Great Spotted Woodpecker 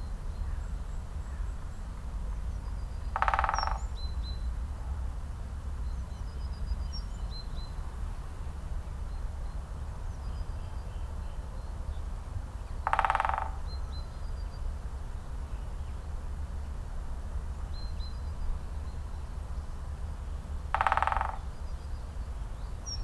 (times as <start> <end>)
3.0 4.1, 12.7 14.1, 20.4 23.0